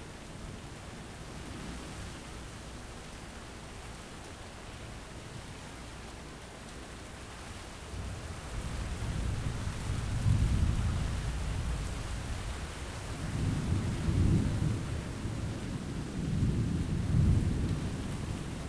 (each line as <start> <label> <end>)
0.0 rain 18.6
13.3 thunder 18.6